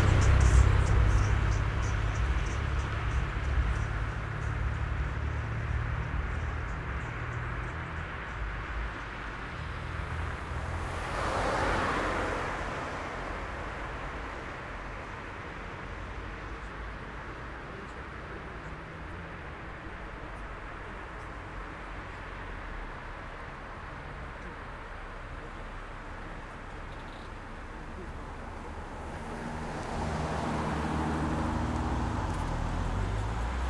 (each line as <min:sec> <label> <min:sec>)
0:00.0 cars going by 0:33.6